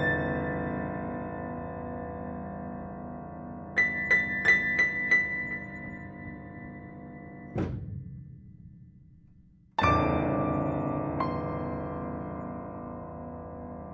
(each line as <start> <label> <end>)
0.0 upright piano 13.9